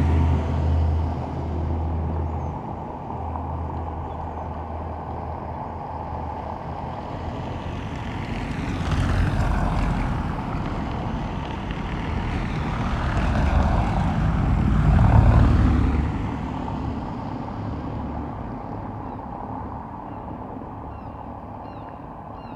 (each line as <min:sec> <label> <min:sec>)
0:00.0 vehicles on a cobbled road 0:22.5
0:20.9 bird calls from herring gulls 0:22.5